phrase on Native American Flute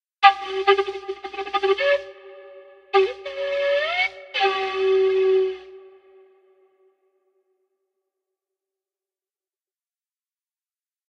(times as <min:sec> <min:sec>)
0:03.0 0:05.8